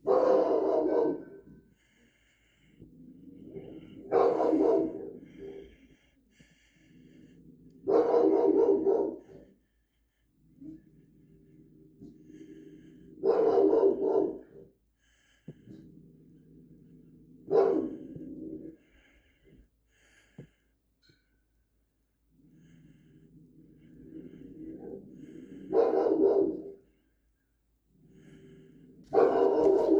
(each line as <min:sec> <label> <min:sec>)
0:00.0 Aggressive dog barks and snarls 0:01.6
0:03.3 Aggressive dog barks and snarls 0:05.7
0:07.6 Aggressive dog barks and snarls 0:09.5
0:13.2 Aggressive dog barks and snarls 0:14.7
0:17.4 Aggressive dog barks and snarls 0:18.8
0:23.8 Aggressive dog barks and snarls 0:26.8
0:28.2 Aggressive dog barks and snarls 0:29.9